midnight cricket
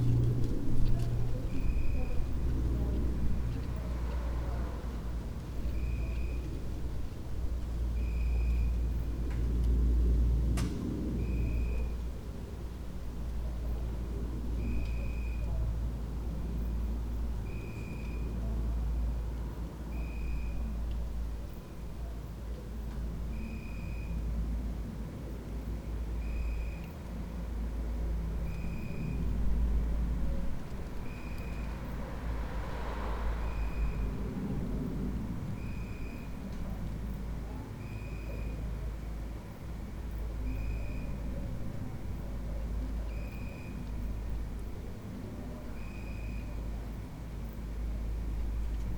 14.6 15.6, 31.0 41.7, 42.5 48.8

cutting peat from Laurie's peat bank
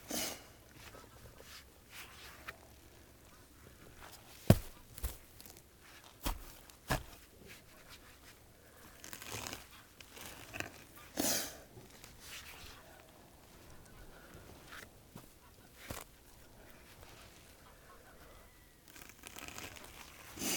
4.2 7.3

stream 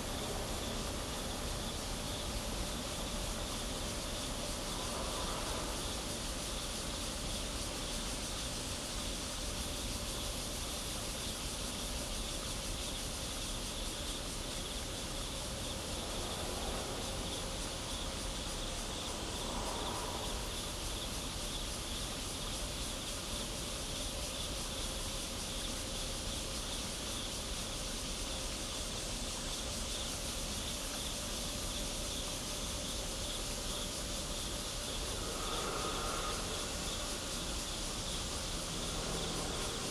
28.5 39.9

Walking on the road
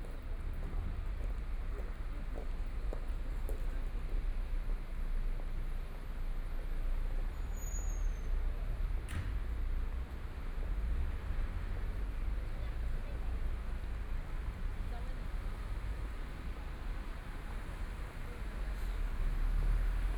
0.0 5.0

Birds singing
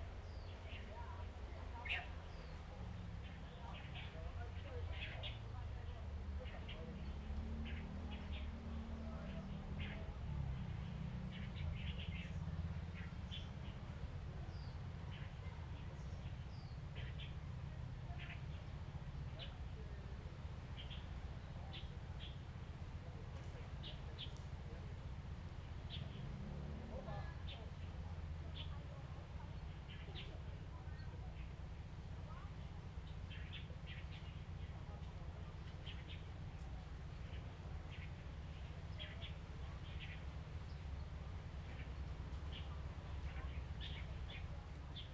32.3 45.1

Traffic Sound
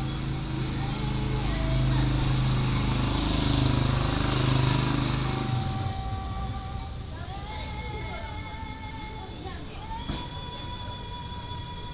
0.0 7.5

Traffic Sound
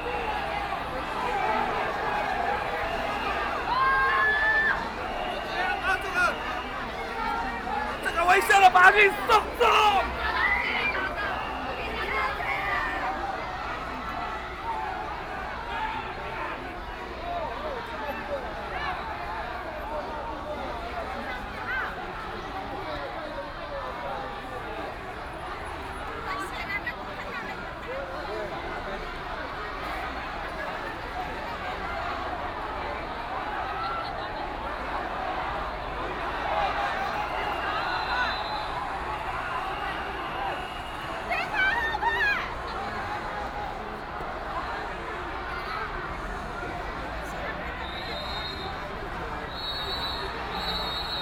0.0 15.4, 29.1 51.2

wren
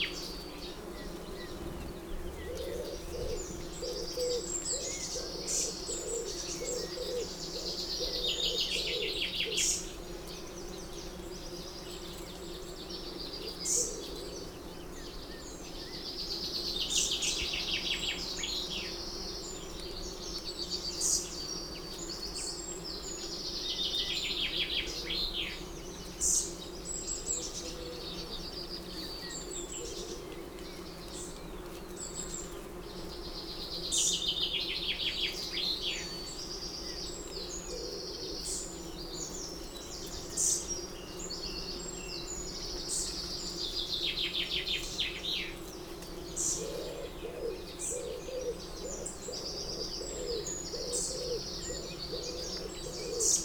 46.3 53.4

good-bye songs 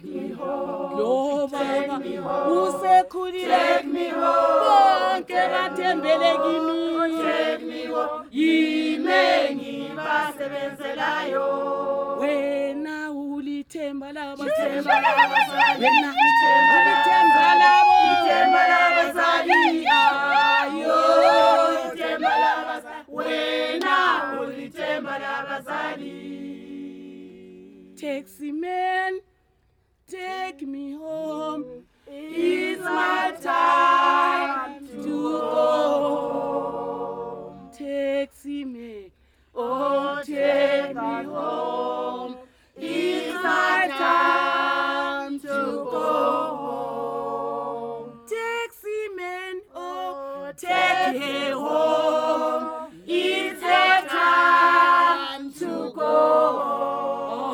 14.2 22.8

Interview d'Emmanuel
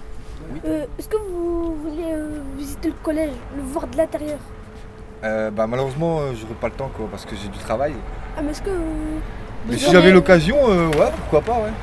3.5 11.8

